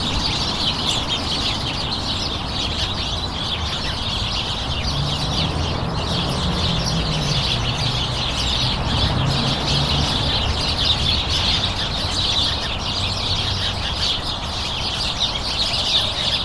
Birds 0:00.0 - 0:16.4
local traffic 0:00.0 - 0:16.4

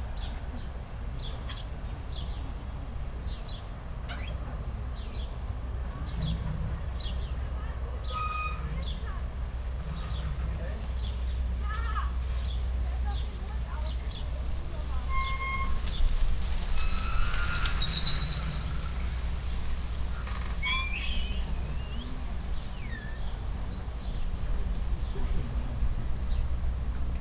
squeaking old ship moved by wind and waves 0:01.3 - 0:11.4
squeaking old ship moved by wind and waves 0:13.9 - 0:27.2

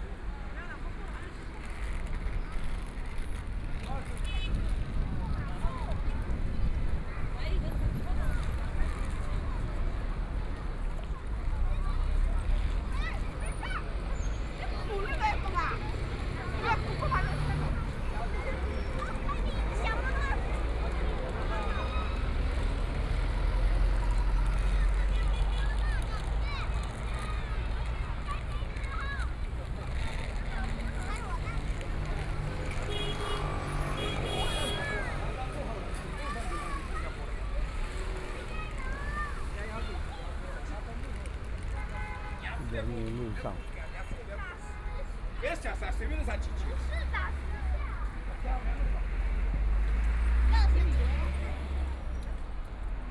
Traffic Sound 0:00.0 - 0:53.1

